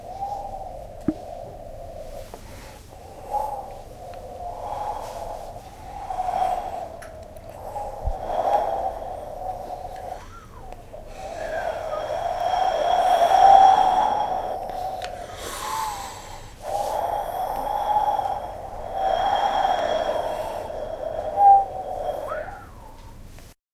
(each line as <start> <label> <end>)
5.9 mouth blowing into hollow objects 23.1